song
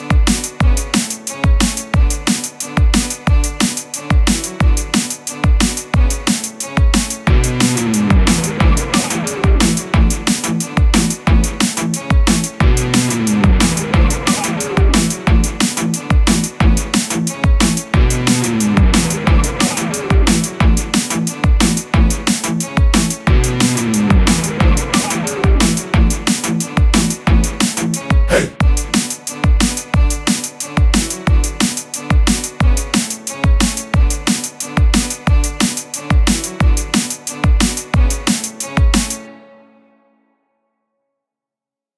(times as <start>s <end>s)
28.3s 28.6s